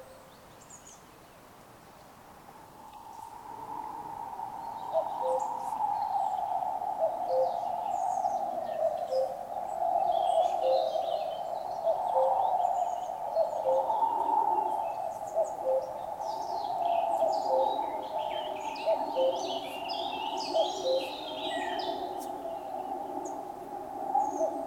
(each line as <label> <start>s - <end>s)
Cuckoo 4.6s - 23.5s
Cuckoo 24.1s - 24.6s